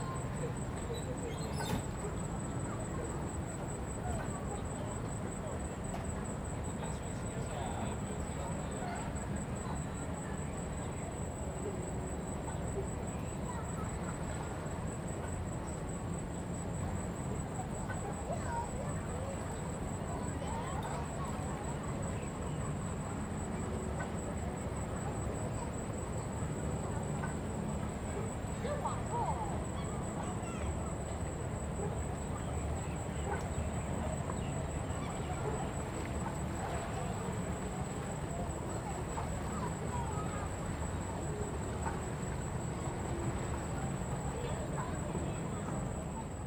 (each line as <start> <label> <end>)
0.0 tourists stepping on the boat on the lake 46.4